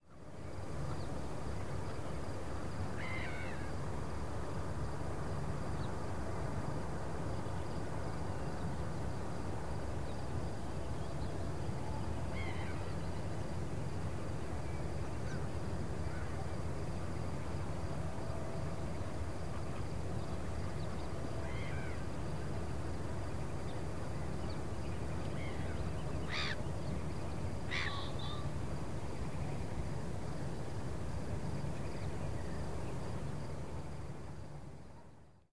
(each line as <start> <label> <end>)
0.0 wind 35.5
0.0 hum of road 35.5
18.8 birds 29.9